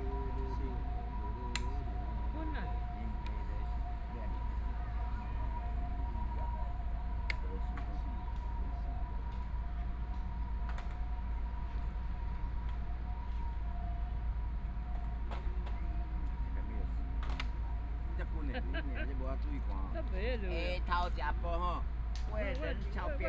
Dialogue among the elderly 0:00.0 - 0:11.2
Traffic Sound 0:00.0 - 0:23.2
Dialogue among the elderly 0:16.0 - 0:23.2

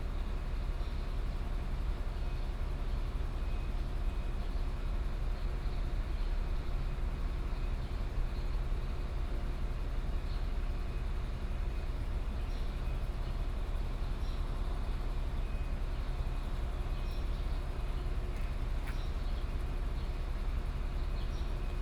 Birdsong sound 0:12.0 - 0:21.8

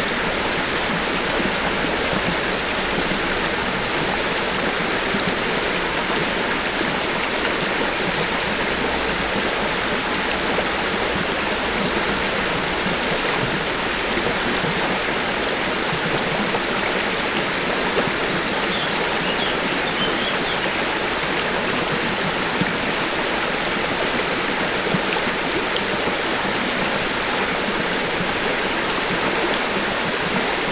River passing over rocks 0:00.0 - 0:30.7
birdsong 0:18.2 - 0:20.8

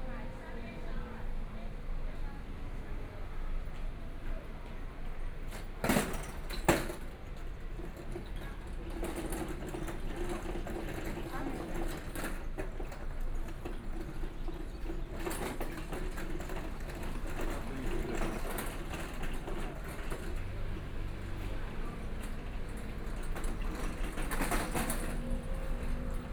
Traffic Sound 0:16.1 - 0:26.3

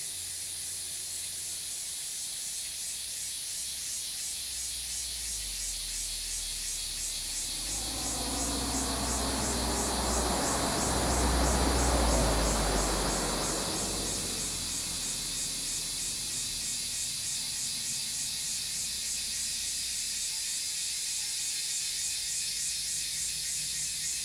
Cicadas cry 0:00.0 - 0:24.2
Traffic Sound 0:06.3 - 0:18.3

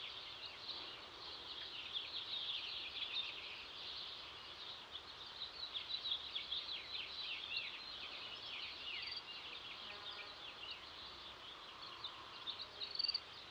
Birds 0:00.0 - 0:13.5

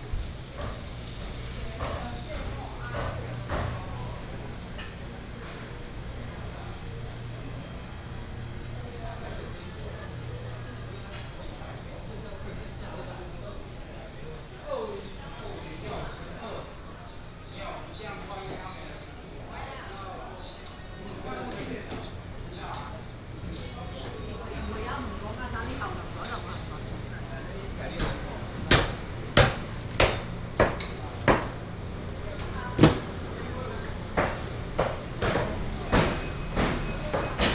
vendors peddling 0:00.0 - 0:13.4
vendors peddling 0:22.1 - 0:37.5

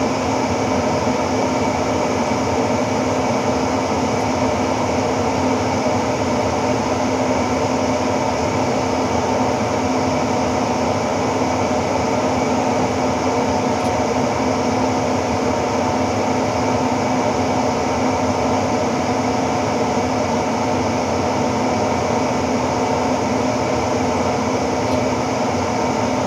Outdoor ventilation spot 0:00.0 - 0:26.2

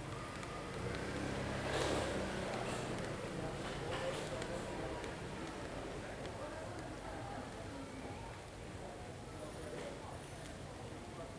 sounds from the street 0:00.0 - 0:11.3

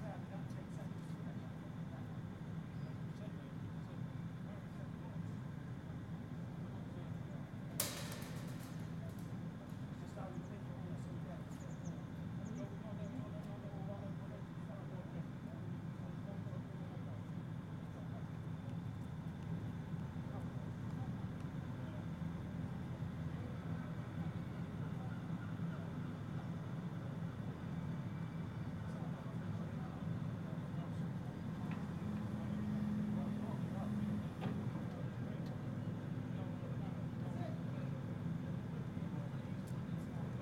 Removing train tracks 0:07.7 - 0:10.1

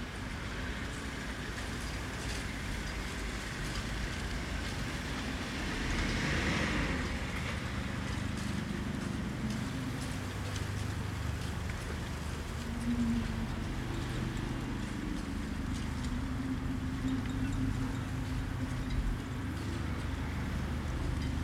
light wind 0:00.0 - 0:21.4

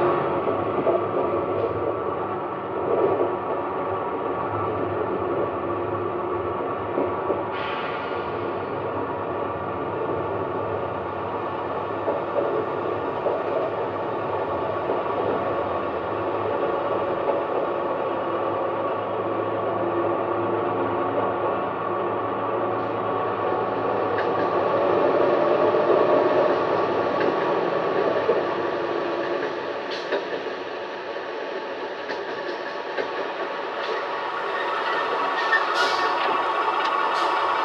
Train 0:00.0 - 0:37.6

